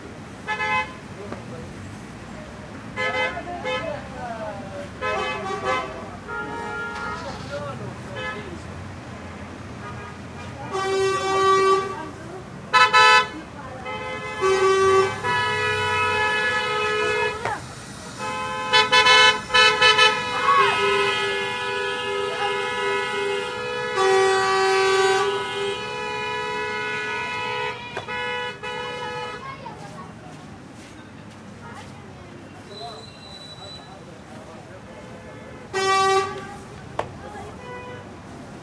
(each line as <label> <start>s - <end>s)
auto horn honks angry close echo 12.7s - 17.4s
auto horn honks angry close echo 18.2s - 29.4s
auto horn honks angry close echo 35.3s - 36.4s